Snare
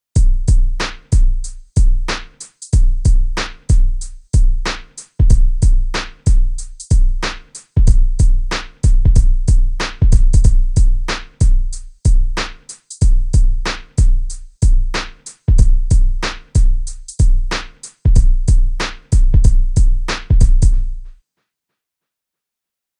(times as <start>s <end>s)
0.8s 1.2s, 2.1s 2.6s, 3.4s 3.7s, 4.7s 5.1s, 6.0s 6.3s, 7.2s 7.7s, 8.5s 8.9s, 9.8s 10.1s, 11.1s 11.4s, 12.4s 12.9s, 13.7s 14.0s, 15.0s 15.4s, 16.2s 16.6s, 17.5s 18.0s, 18.8s 19.2s, 20.1s 20.4s